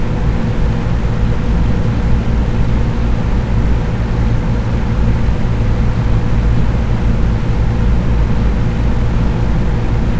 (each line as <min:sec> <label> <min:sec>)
0:00.0 drone of motor 0:10.1